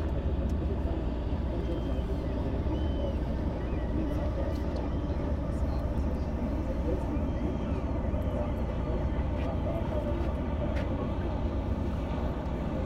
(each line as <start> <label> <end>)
0.0 tourist boats berthing 12.8